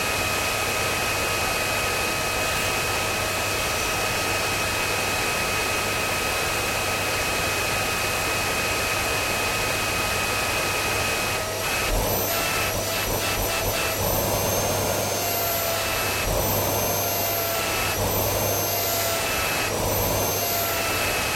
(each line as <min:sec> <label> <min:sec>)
0:00.0 Vacuum cleaner 0:21.3